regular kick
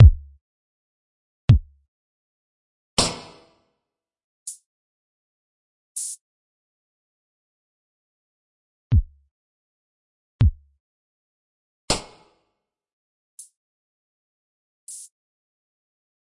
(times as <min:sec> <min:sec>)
0:00.0 0:00.4, 0:01.5 0:01.7, 0:10.4 0:10.6